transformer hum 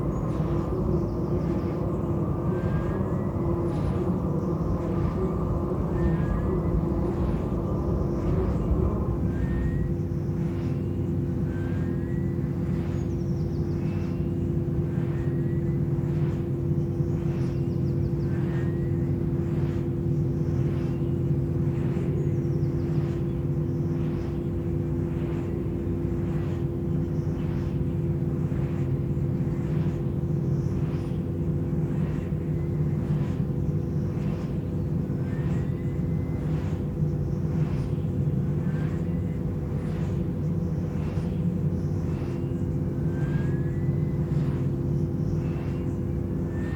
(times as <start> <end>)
0.0 12.2